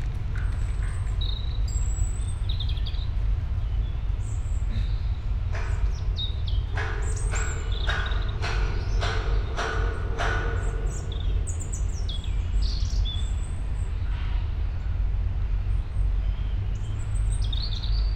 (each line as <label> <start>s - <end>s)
hammers 5.5s - 12.3s